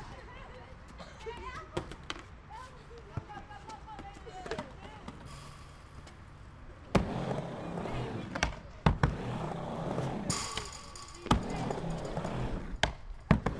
skater in der half pipe 0:06.8 - 0:13.5

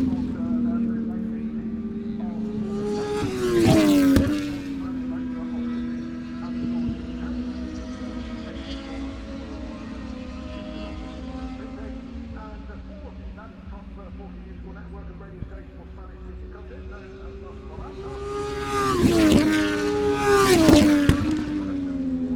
motorcycle 0:00.0 - 0:22.3

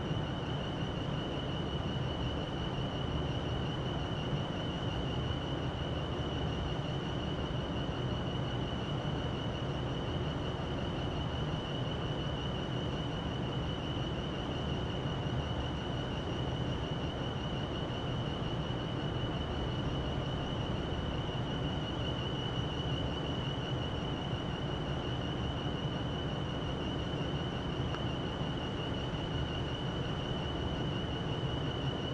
wind 0:00.0 - 0:32.1

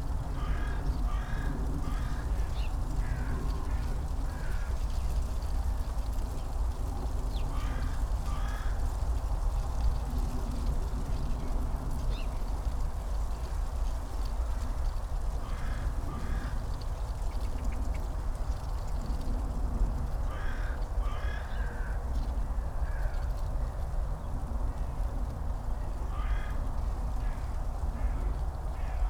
dry leaves in the wind 0:00.0 - 0:29.0
dun crows 0:20.3 - 0:21.9
dun crows 0:26.1 - 0:26.6

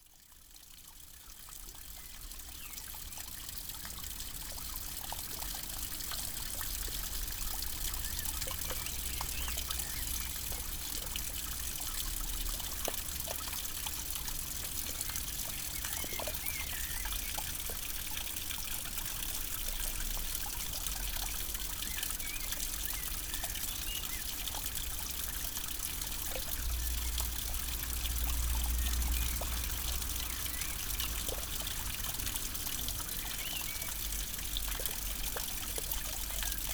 Rain on the nettles 0:00.4 - 0:36.7

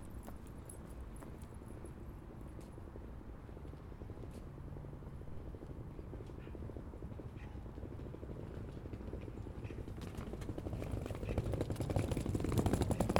bicycle pass 0:07.8 - 0:13.1

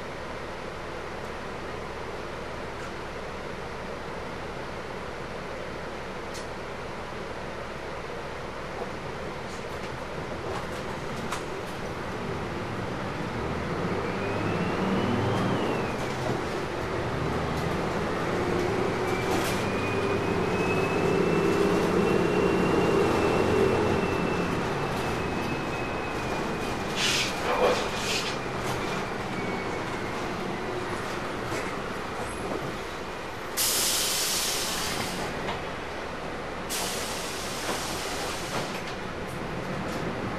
Bus 263 broadcasting System 0:09.2 - 0:39.5

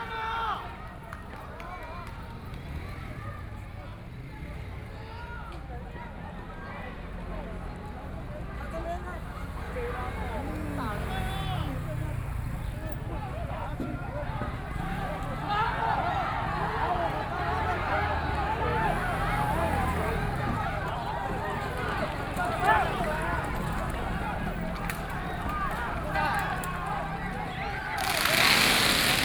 Riot police used tear gas 0:24.8 - 0:29.2
Protest 0:27.9 - 0:29.2

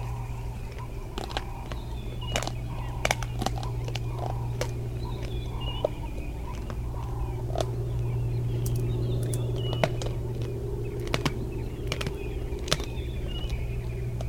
lions eating the bones of an Impala antelope 0:00.0 - 0:14.2

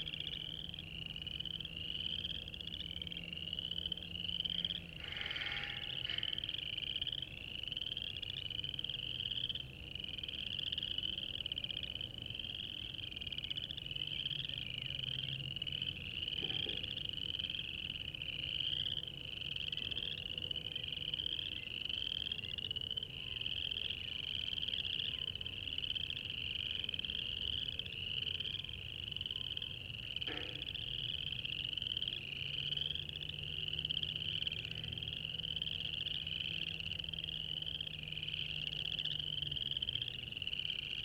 Spring peepers (chorus frogs) 0:00.0 - 0:41.0
birds circling overhead 0:00.0 - 0:41.0
traffic 0:00.0 - 0:41.0
sounds from the nearby concrete plant 0:04.0 - 0:07.4

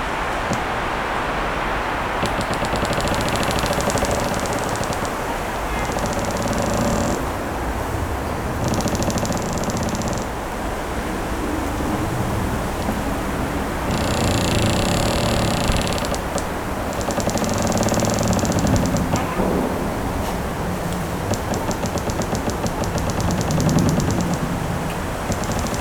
rubbing of branches 0:00.0 - 0:25.8
vibrations of the tree 0:00.0 - 0:25.8

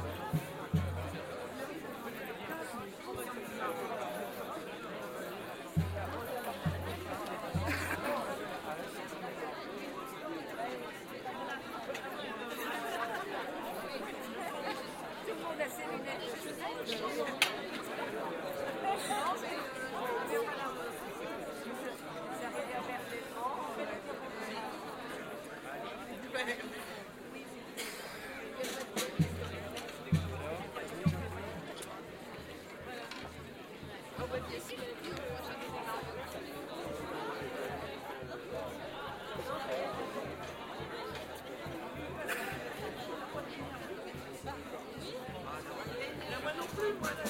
samba group 0:00.0 - 0:01.9
samba group 0:05.7 - 0:08.4
samba group 0:28.6 - 0:36.4

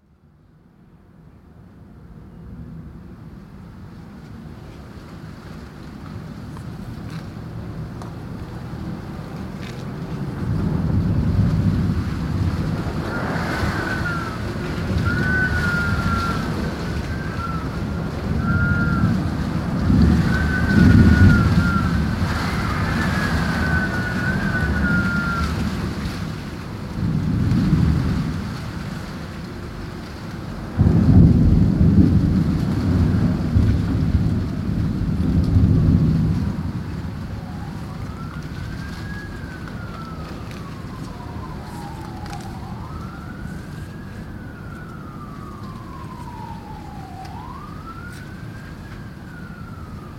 busy road 0:01.0 - 0:50.1
rumbling thunder 0:10.2 - 0:50.1

